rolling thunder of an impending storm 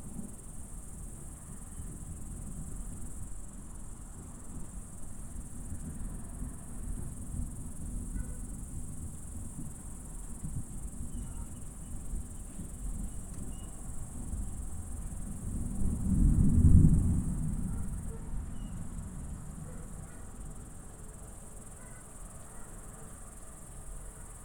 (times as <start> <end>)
13.8 20.1